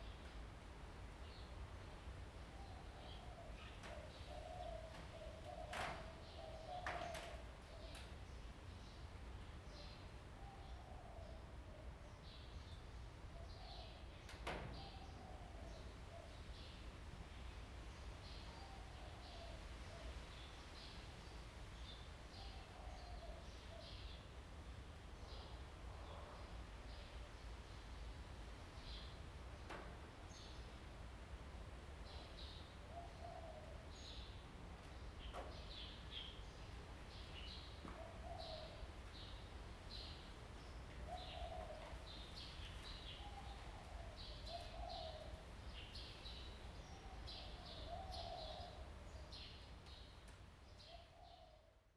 Birds singing 32.1 - 50.2

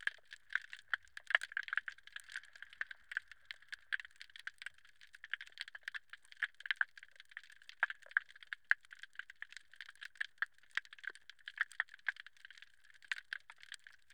underwater calm 0.0 - 14.1

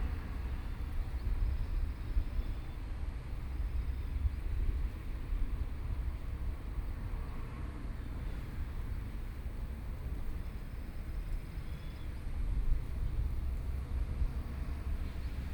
Traffic Noise 0.0 - 15.5
Train traveling through 0.0 - 15.5

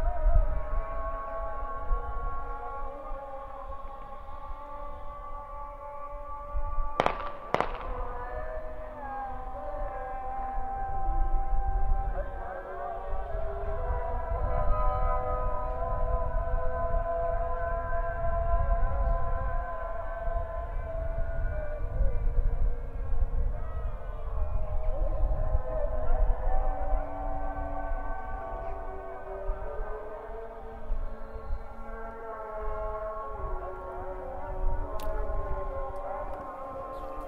muezzins calls for prayer 0.0 - 37.2
shootings 7.0 - 8.2

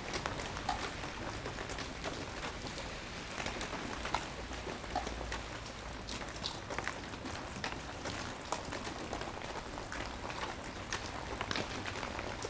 raining raining raining 0.0 - 12.4

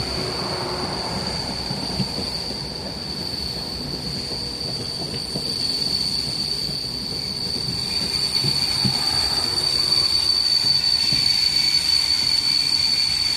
ground between rails and wheels 0.0 - 13.3

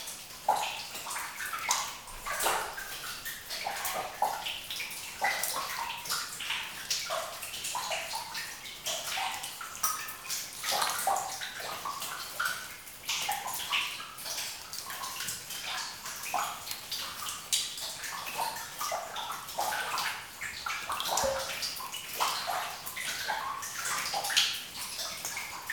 water 0.0 - 25.7

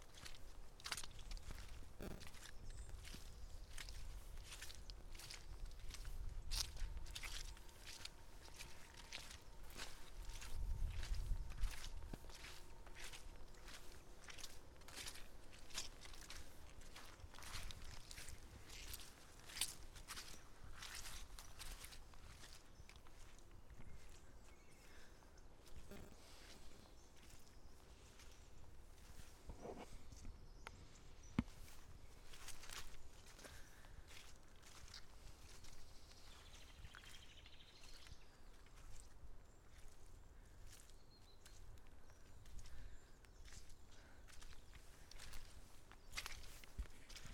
Walking in the mud 0.0 - 47.3

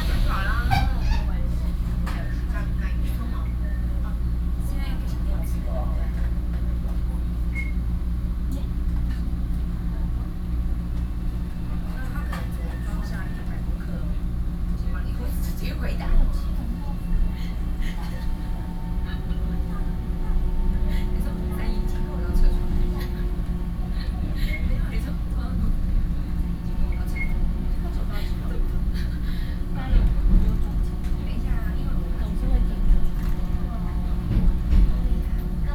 Train message broadcasting 0.0 - 4.0
train 0.0 - 35.7
Train message broadcasting 11.3 - 35.7

